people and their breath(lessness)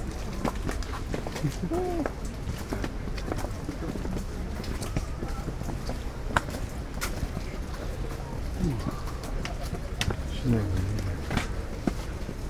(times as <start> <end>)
0.9 2.8, 7.7 12.3